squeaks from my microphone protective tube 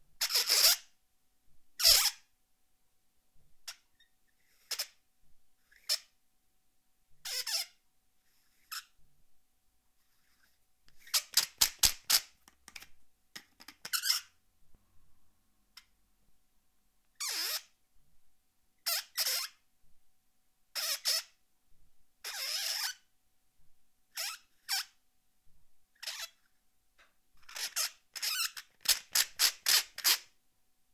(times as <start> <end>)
27.4 30.3